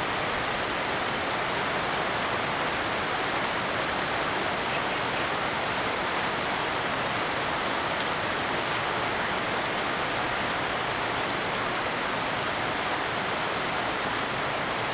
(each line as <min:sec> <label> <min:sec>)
0:00.0 Heavy rain 0:14.9